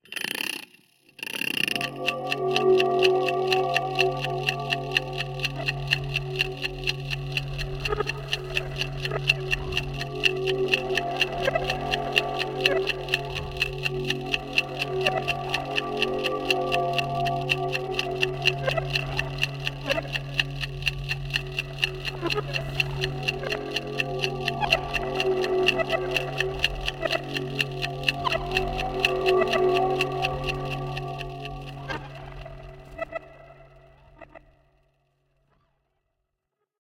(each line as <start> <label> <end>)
0.0 Ticking 34.4
1.6 Synth 34.6